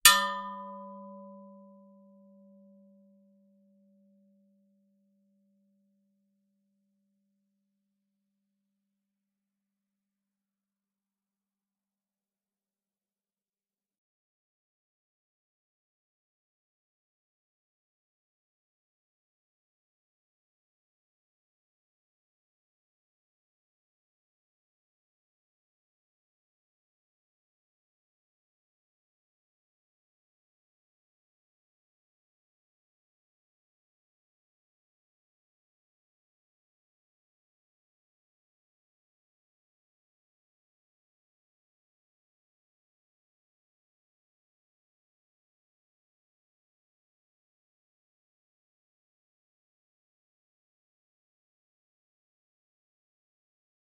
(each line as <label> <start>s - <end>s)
Steel car wheel hit with a metal stick, long sustain 0.1s - 1.6s